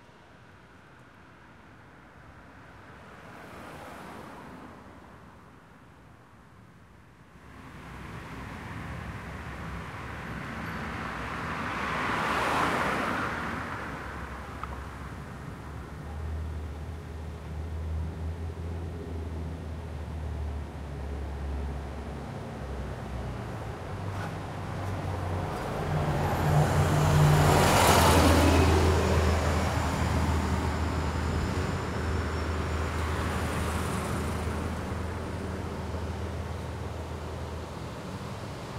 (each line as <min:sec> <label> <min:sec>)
0:23.9 Car passes Medium 0:36.3